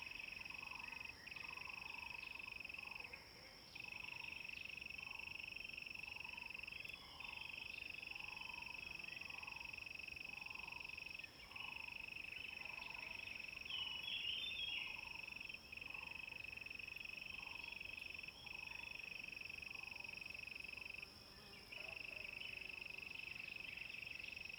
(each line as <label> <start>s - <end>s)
Insects sounds 3.8s - 24.5s